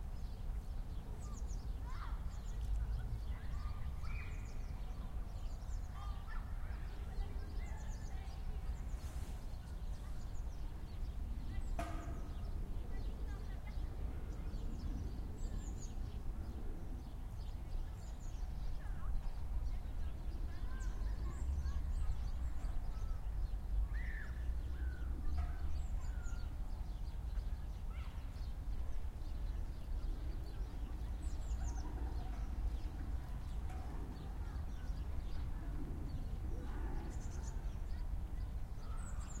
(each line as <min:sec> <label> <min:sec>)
0:00.0 Birds 0:39.4
0:00.0 pedestrians 0:39.4
0:20.3 children playing and laughing 0:28.8
0:30.6 children playing and laughing 0:39.4